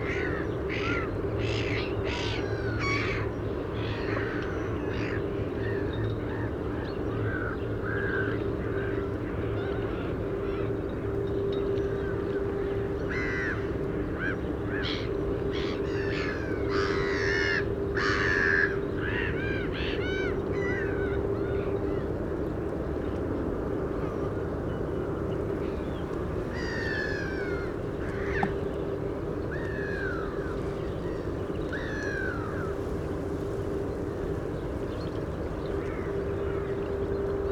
Birds on and around the water 0:00.0 - 0:37.5

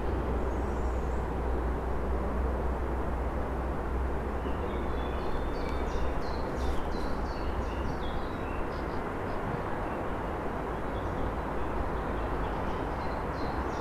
City noises 0:00.0 - 0:13.8

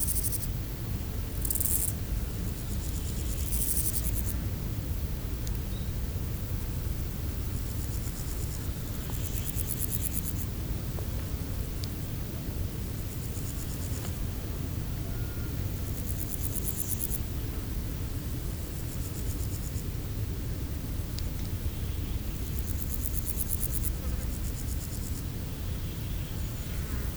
grasshoppers singing in the tall grass 0:00.0 - 0:04.4
grasshoppers singing in the tall grass 0:05.7 - 0:27.1

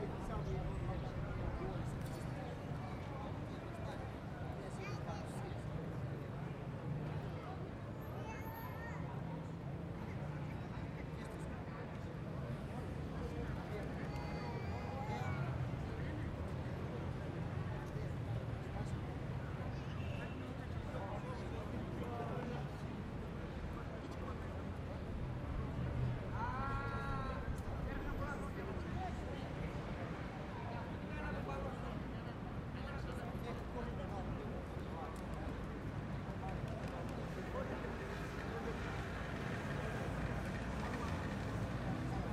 distant traffic 0:34.2 - 0:42.3

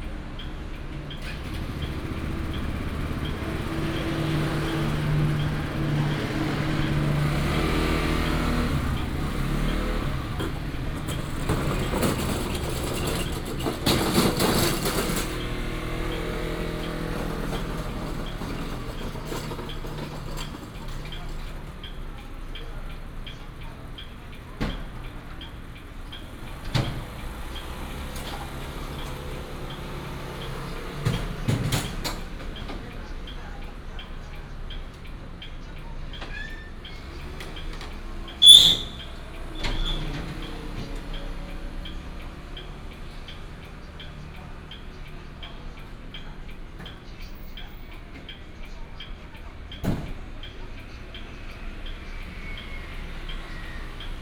Traffic sound 0:00.0 - 0:54.2

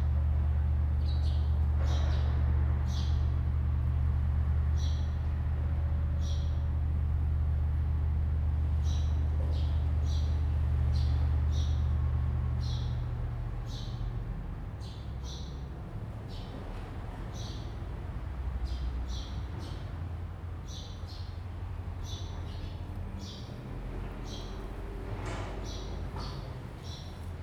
Birds singing 0:17.3 - 0:17.8
Birds singing 0:18.6 - 0:20.0
Birds singing 0:20.6 - 0:27.3
Construction 0:21.4 - 0:27.4

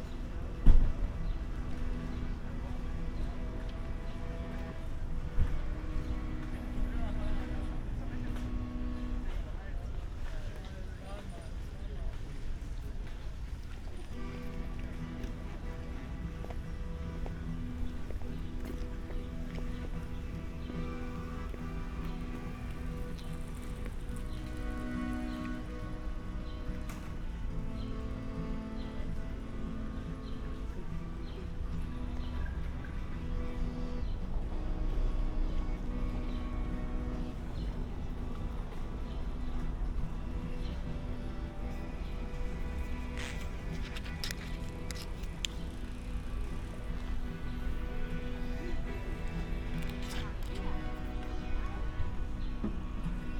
buskers playing 0:00.0 - 0:53.3
people passing-by 0:00.0 - 0:53.3

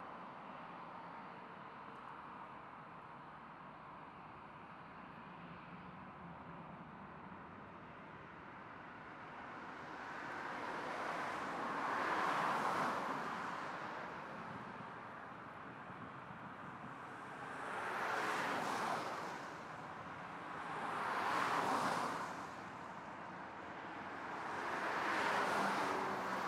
cars 0:07.9 - 0:26.4

